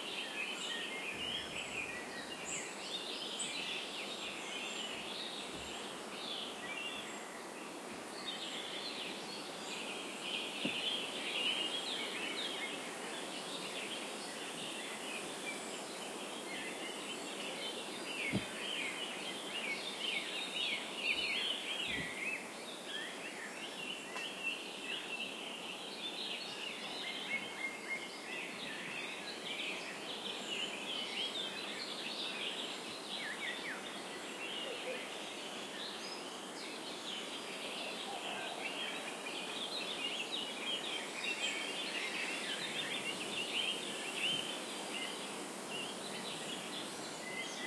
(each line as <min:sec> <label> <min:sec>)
0:00.0 Morning birds 0:47.6